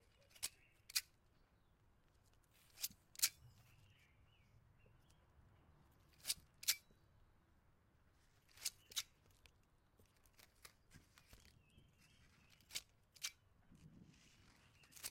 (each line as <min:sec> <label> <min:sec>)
0:00.0 garden sheers cutting into a small rose garden 0:01.4
0:02.2 garden sheers cutting into a small rose garden 0:04.1
0:05.9 garden sheers cutting into a small rose garden 0:07.0
0:08.1 garden sheers cutting into a small rose garden 0:15.1